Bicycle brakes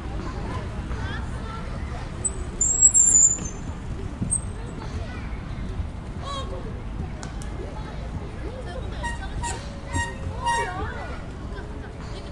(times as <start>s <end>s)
2.2s 4.5s